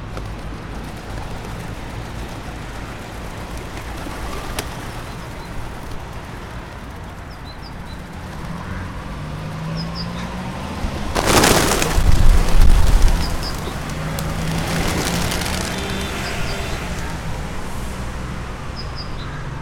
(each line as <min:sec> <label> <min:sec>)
0:00.0 city traffic sounds 0:19.6
0:11.2 Feeding the pigeons 0:17.6